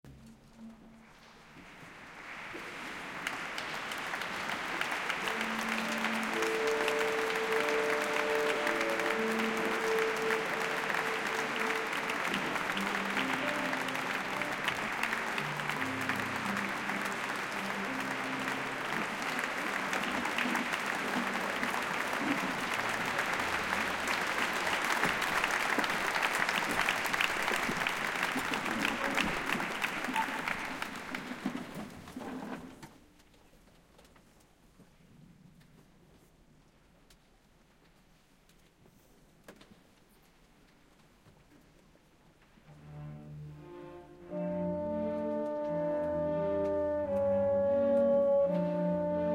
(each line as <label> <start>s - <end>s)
applause 1.6s - 32.7s